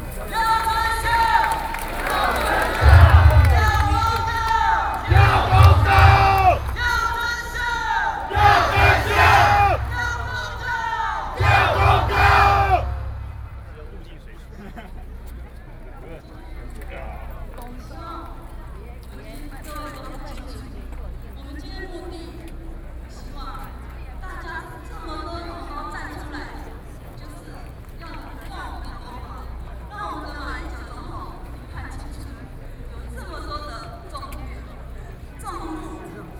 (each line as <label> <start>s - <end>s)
Protest shout 0.2s - 13.8s